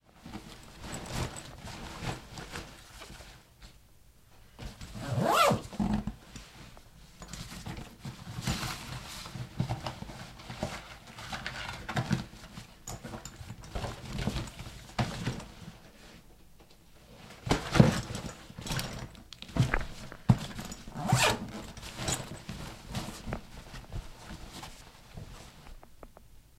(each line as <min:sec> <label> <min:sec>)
0:00.2 clothes removed or put in 0:03.8
0:04.6 clothes removed or put in 0:16.0
0:04.9 zipper opened 0:06.2
0:17.1 clothes removed or put in 0:25.9
0:17.3 gym-duffle bag open and close 0:24.7
0:20.8 zipper opened 0:22.4